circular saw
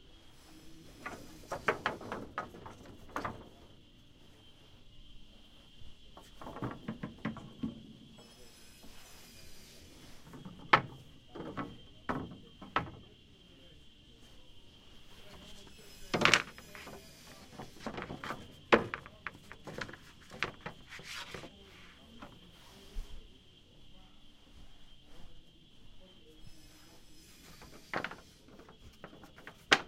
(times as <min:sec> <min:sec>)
0:08.2 0:10.4, 0:15.4 0:18.5, 0:26.2 0:28.5